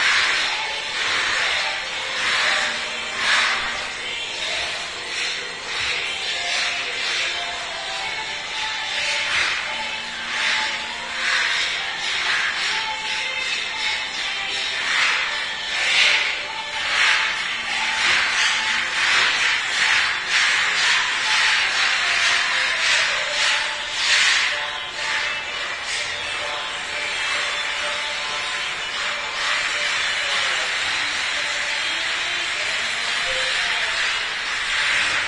workers 0.0 - 35.2

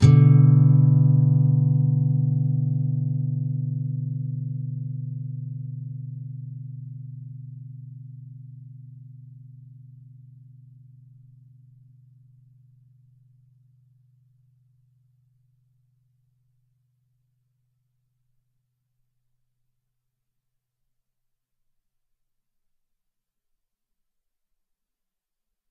nylon guitar 0.0 - 11.7

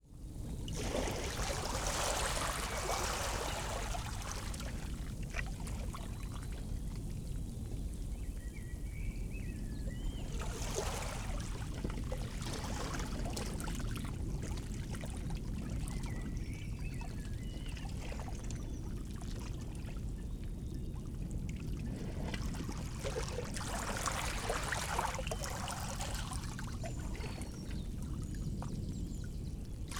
gentle waves 0.2 - 8.2
birds in the trees behind 5.9 - 11.4
gentle waves 9.5 - 29.9
birds in the trees behind 24.4 - 29.9

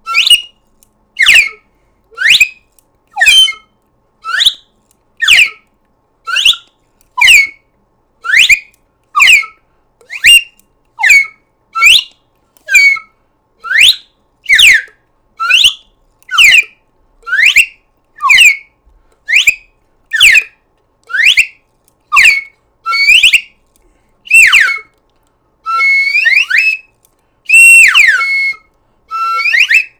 slide whistle 0.0 - 0.6
slide whistle 1.2 - 1.6
slide whistle 2.2 - 2.6
slide whistle 3.2 - 4.6
slide whistle 5.2 - 5.6
slide whistle 6.3 - 7.6
slide whistle 8.2 - 12.1
slide whistle 12.7 - 16.7
slide whistle 17.3 - 18.7
slide whistle 19.3 - 20.5
slide whistle 21.1 - 23.5
slide whistle 24.3 - 24.9
slide whistle 25.6 - 26.9
slide whistle 27.5 - 29.9

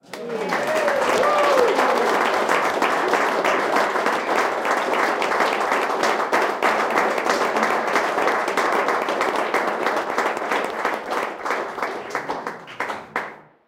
applause 0.0 - 13.6

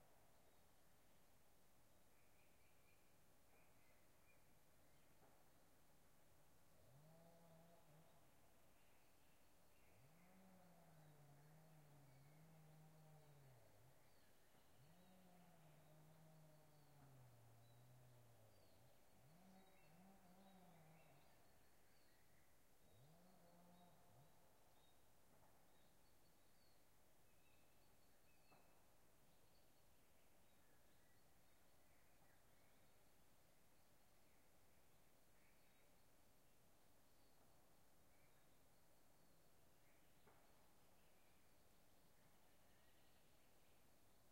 birdsong 2.0 - 6.6
birdsong 7.2 - 44.3

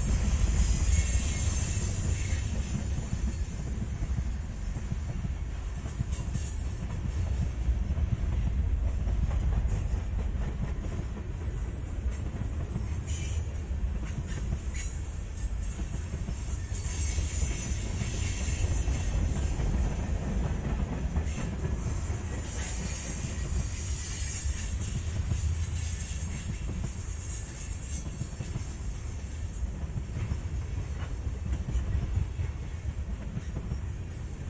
Freight Train Slow3 0.0 - 34.4

